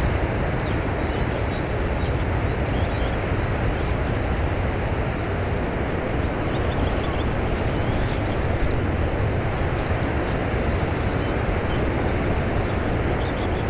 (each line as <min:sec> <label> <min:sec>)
0:03.2 Waves in background 0:13.6
0:06.1 bird songs 0:13.6